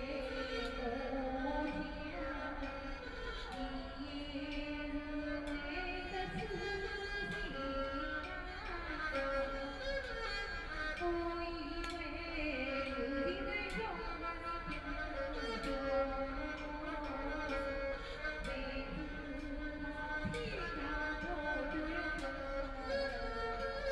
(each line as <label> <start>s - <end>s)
Erhu 0.0s - 23.9s